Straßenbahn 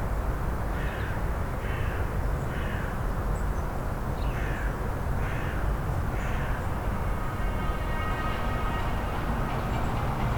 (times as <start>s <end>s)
5.9s 10.3s